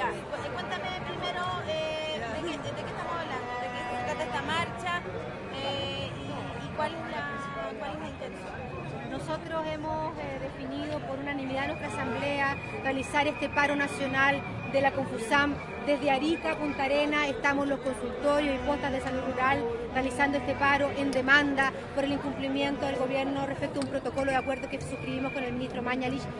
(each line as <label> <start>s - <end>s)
Conversaciones varias entre vendedores de hamburguesas de soya 0.0s - 26.3s
Secretaria general de la agrupacion Javiera Corvalán explica 0.0s - 26.3s
crowd 0.0s - 26.3s